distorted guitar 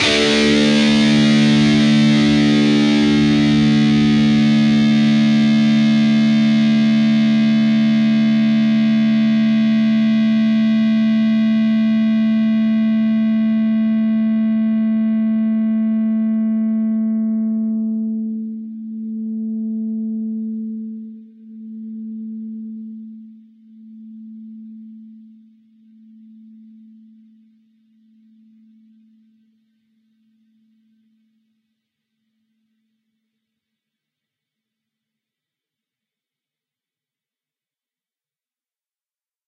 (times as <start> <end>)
0.0 23.2